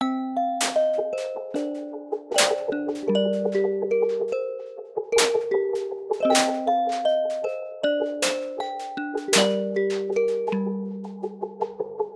piano 0.0 - 12.1

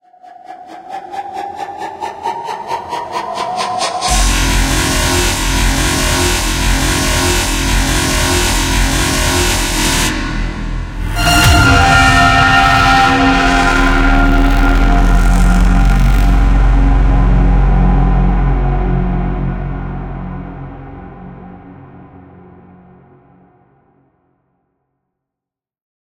scream 2.0 - 20.9

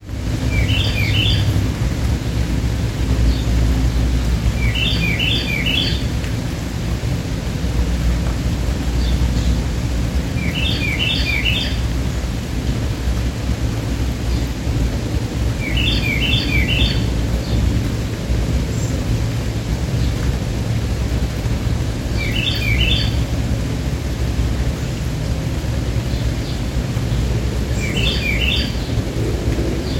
rain 0.0 - 29.9
carolina wren calling 0.5 - 1.6
carolina wren calling 4.6 - 6.0
carolina wren calling 10.4 - 11.9
carolina wren calling 15.6 - 17.1
carolina wren calling 22.1 - 23.3
carolina wren calling 27.7 - 29.0

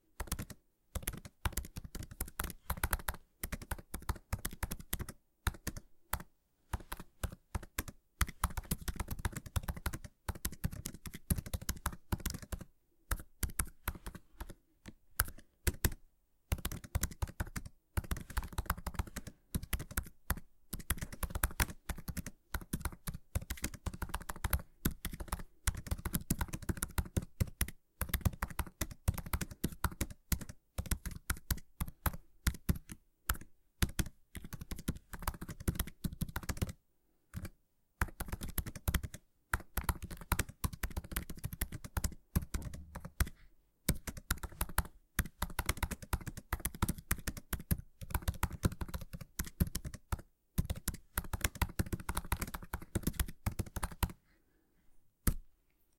keyboard typing 0.1 - 54.2
keyboard typing 55.2 - 55.4

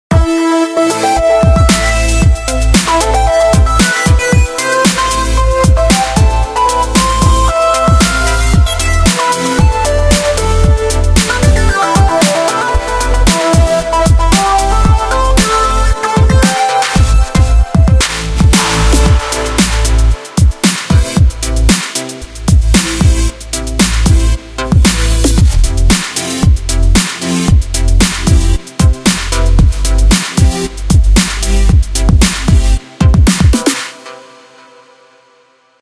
bass 0.1 - 33.9
perc 0.1 - 34.1
synth 0.1 - 35.8
hat 1.4 - 33.9
snare 1.7 - 2.2
snare 2.8 - 34.1
kick 16.2 - 19.8

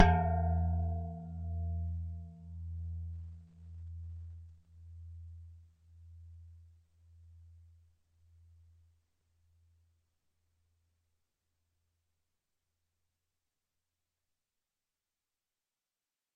Gong 0.0 - 4.1

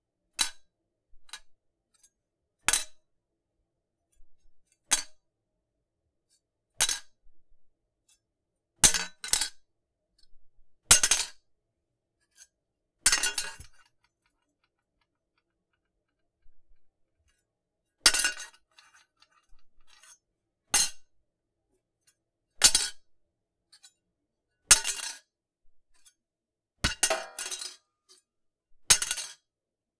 dropping a metal lid of a tin can on a countertop 26.9 - 27.8

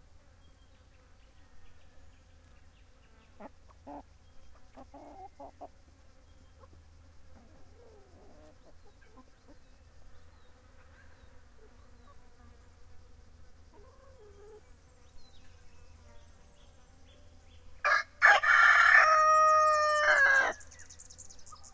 rooster 13.7 - 14.7
rooster 17.8 - 20.7

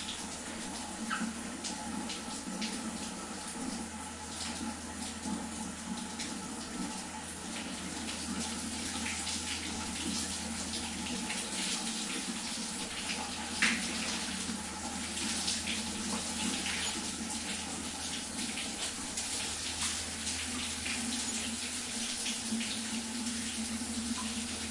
taking shower 0.0 - 24.7

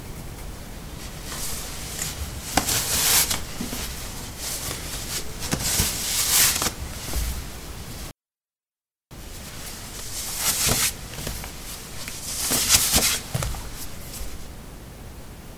Putting socks on/off on ceramic tiles 1.0 - 8.1
Putting socks on/off on ceramic tiles 9.4 - 14.4

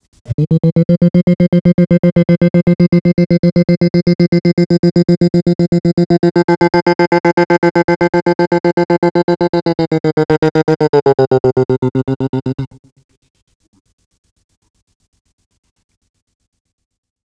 wrecked vox 20 0.3 - 12.8

